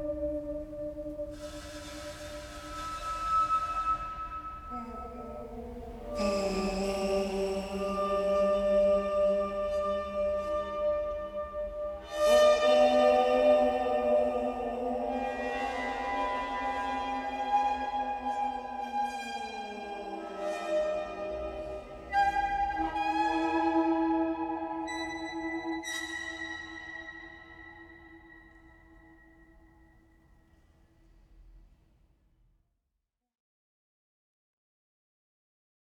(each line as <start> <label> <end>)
0.0 whistling 30.6